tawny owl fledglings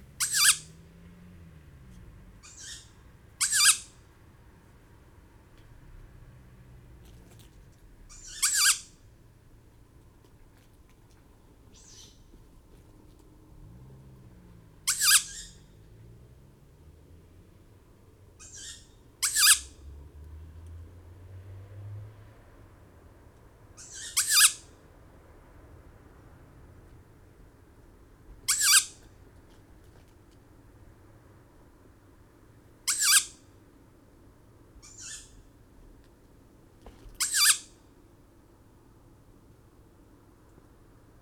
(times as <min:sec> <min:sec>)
0:00.2 0:00.8, 0:02.4 0:04.1, 0:08.1 0:09.0, 0:11.7 0:12.4, 0:14.8 0:15.8, 0:18.3 0:19.8, 0:23.7 0:24.8, 0:28.4 0:29.1, 0:32.8 0:33.4, 0:34.8 0:35.6, 0:37.2 0:37.8